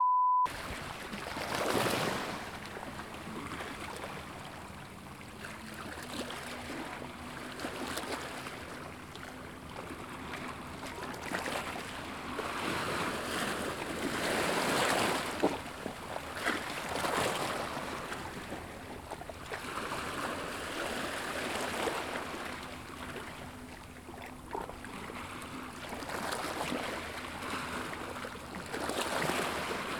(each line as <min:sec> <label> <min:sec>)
0:00.5 Smallwaves crashing on the beach's rocks 0:23.3
0:24.9 Smallwaves crashing on the beach's rocks 0:29.9